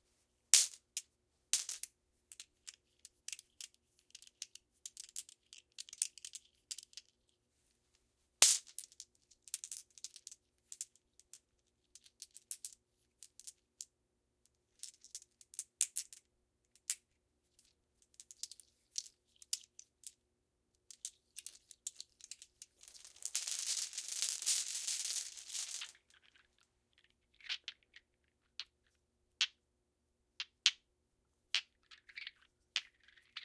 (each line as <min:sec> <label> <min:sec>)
0:20.9 cloth bag full of glass marbles 0:28.9
0:31.6 cloth bag full of glass marbles 0:33.4